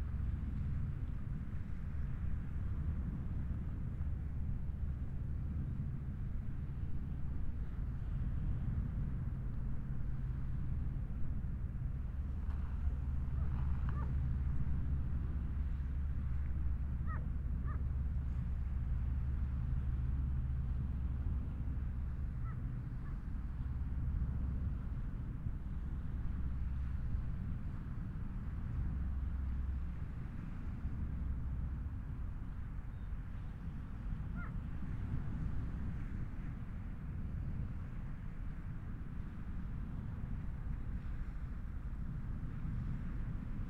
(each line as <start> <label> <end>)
0.0 army helicopter passing overhead 40.8
0.0 The sea 43.6